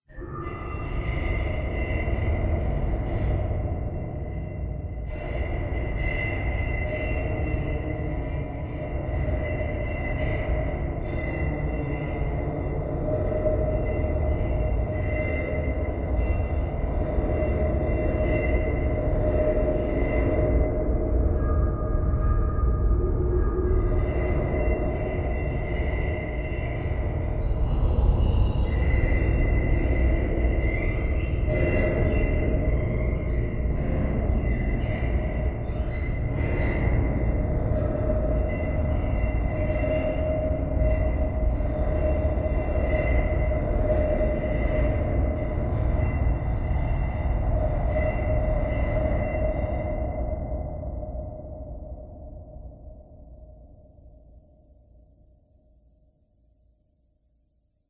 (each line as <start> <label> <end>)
0.0 Creepy noises in the distance 55.1
0.0 drone 54.6
22.5 deep rumble 50.5